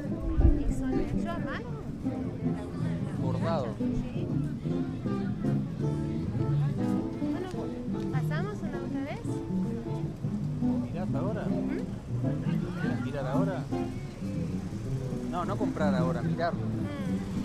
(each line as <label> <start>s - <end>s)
guitar player and his soft tunes 0.0s - 17.4s
guitarra 0.0s - 17.4s